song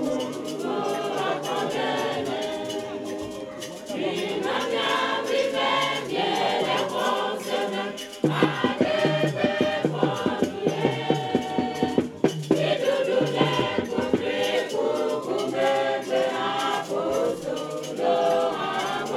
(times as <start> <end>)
8.2 15.0